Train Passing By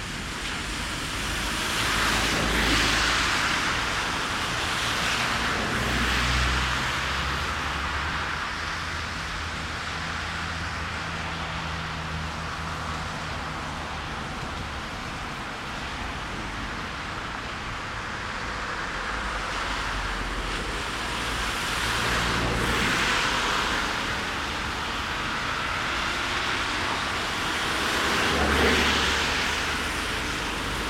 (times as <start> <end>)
12.0 30.8